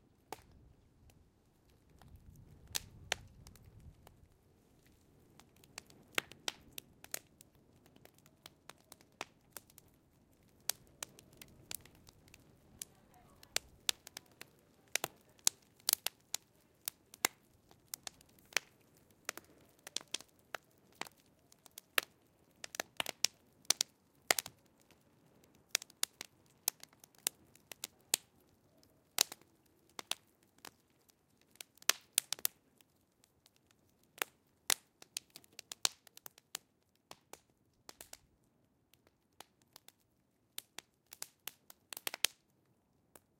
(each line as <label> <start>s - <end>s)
small bonfire 0.0s - 43.3s
popping embers 0.1s - 43.3s